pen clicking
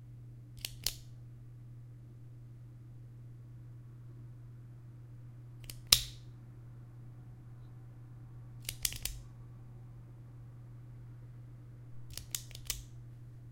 0.6s 1.0s, 5.6s 6.2s, 8.6s 9.2s, 12.1s 12.9s

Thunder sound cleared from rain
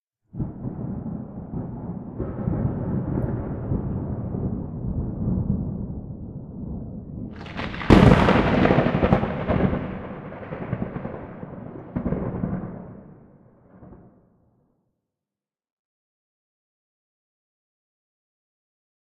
0.3s 14.2s

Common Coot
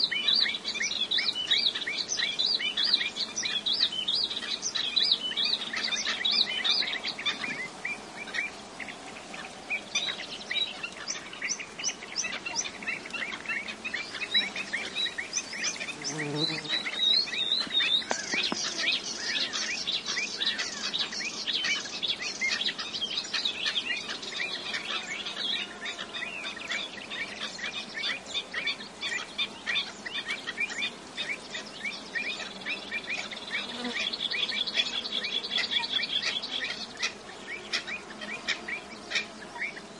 22.5s 39.9s

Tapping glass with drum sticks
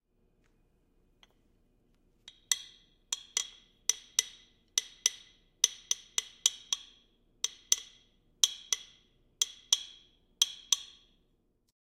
2.3s 11.2s

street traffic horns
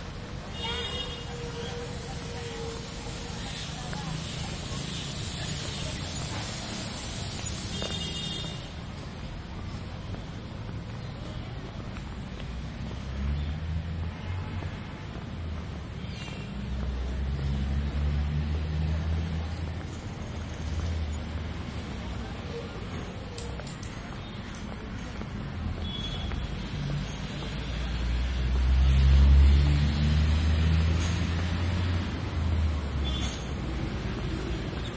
0.2s 9.0s, 23.0s 29.4s, 31.9s 34.9s

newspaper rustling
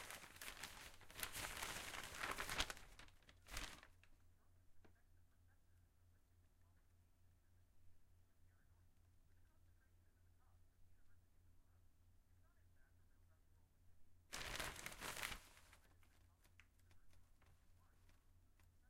0.0s 4.1s, 14.3s 18.2s

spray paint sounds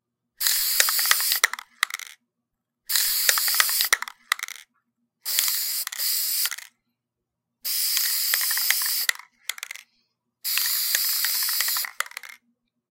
0.4s 2.2s, 2.9s 4.6s, 5.3s 6.7s, 7.6s 9.8s, 10.4s 12.4s

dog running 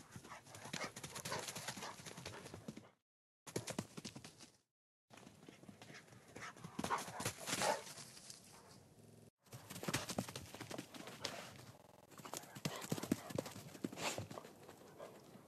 0.2s 2.9s, 5.2s 8.4s, 9.5s 15.4s

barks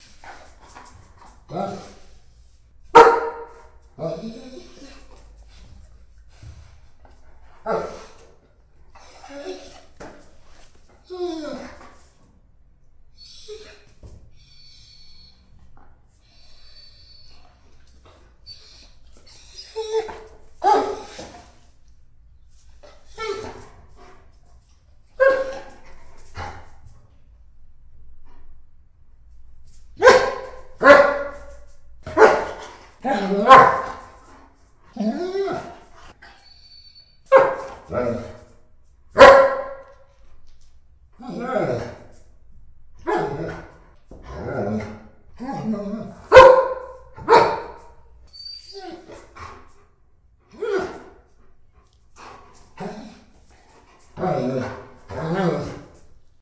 30.0s 31.5s, 32.1s 34.0s, 39.2s 39.9s, 46.3s 47.9s

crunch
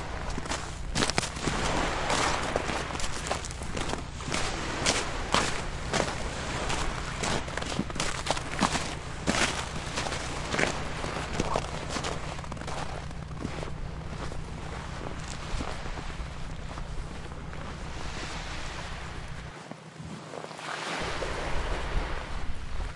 0.2s 17.9s

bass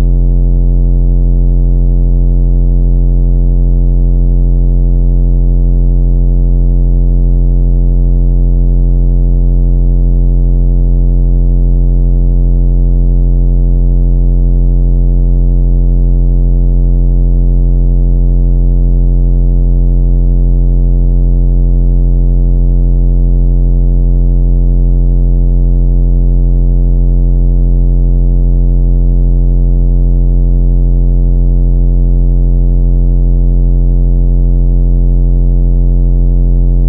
0.0s 0.4s

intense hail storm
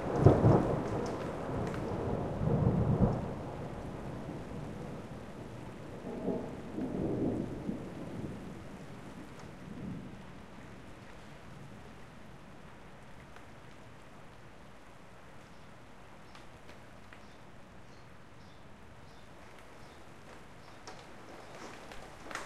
0.0s 10.2s, 19.4s 22.4s

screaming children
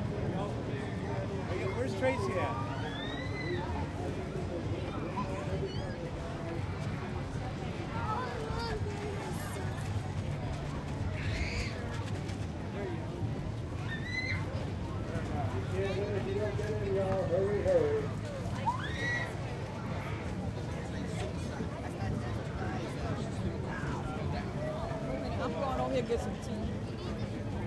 2.4s 3.8s, 13.8s 14.5s, 18.6s 19.4s

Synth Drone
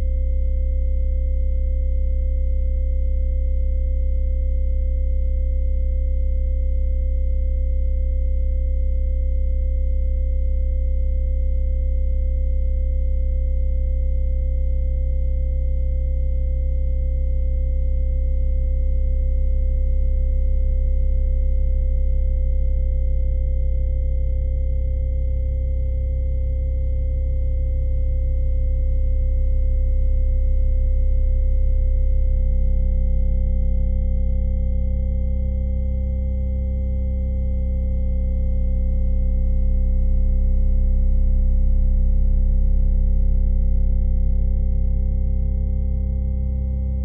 38.7s 47.0s

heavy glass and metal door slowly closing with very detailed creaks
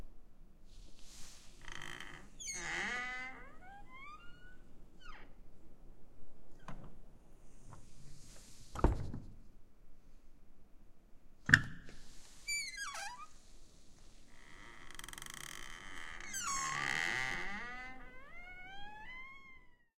1.6s 5.4s, 12.5s 13.4s, 14.3s 19.9s

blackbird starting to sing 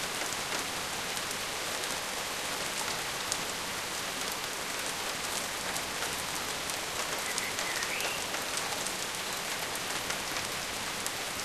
7.2s 8.3s

